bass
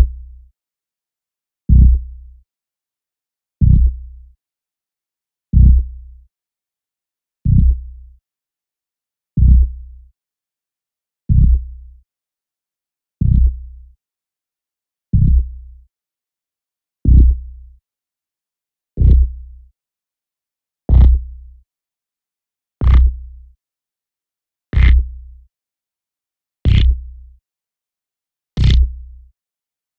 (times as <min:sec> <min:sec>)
0:00.0 0:00.5, 0:01.7 0:02.4, 0:03.6 0:04.4, 0:05.5 0:06.3, 0:07.4 0:08.2, 0:09.4 0:10.1, 0:11.3 0:12.0, 0:13.2 0:14.0, 0:15.1 0:15.9, 0:17.0 0:17.8, 0:19.0 0:19.7, 0:20.9 0:21.6, 0:22.8 0:23.6, 0:24.8 0:25.5, 0:26.6 0:27.4, 0:28.6 0:29.3